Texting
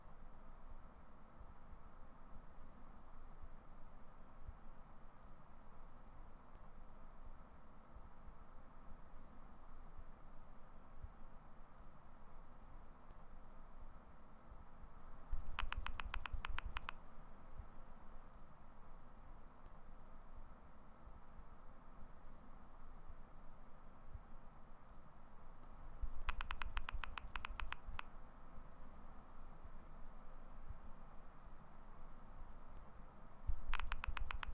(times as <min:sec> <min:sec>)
0:15.4 0:17.0, 0:26.2 0:28.1, 0:33.6 0:34.5